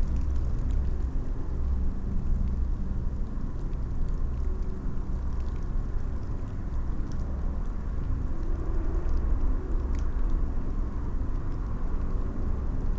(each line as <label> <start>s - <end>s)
drizzle rain 0.0s - 12.9s